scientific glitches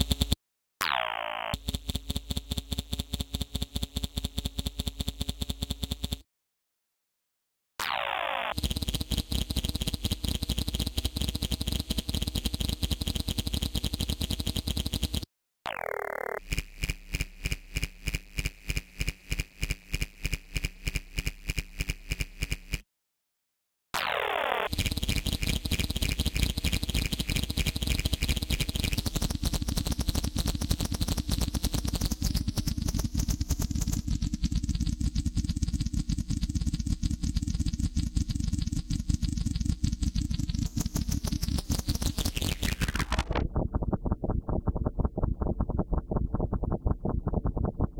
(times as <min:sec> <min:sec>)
0:39.6 0:45.1